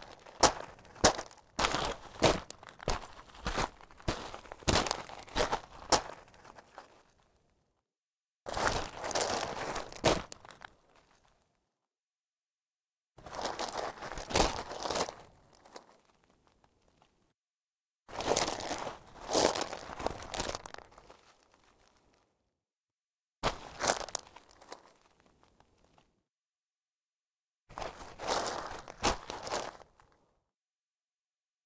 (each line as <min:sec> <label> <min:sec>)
0:00.0 footsteps river gravel 0:07.1
0:08.5 footsteps river gravel 0:11.2
0:13.2 footsteps river gravel 0:16.2
0:18.1 footsteps river gravel 0:22.0
0:23.4 footsteps river gravel 0:25.3
0:27.7 footsteps river gravel 0:30.0